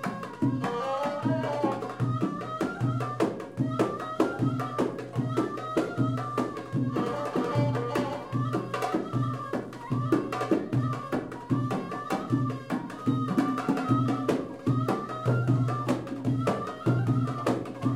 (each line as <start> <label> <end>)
0.0 Egyptian music 17.9